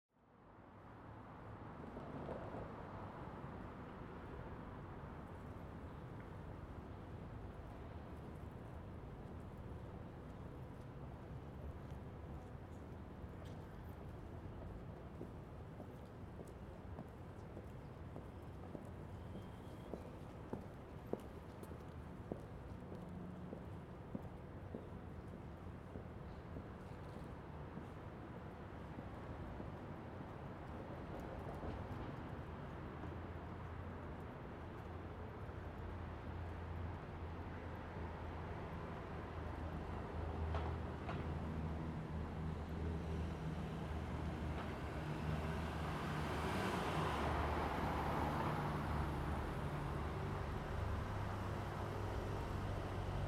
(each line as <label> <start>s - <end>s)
vehicles 39.6s - 53.2s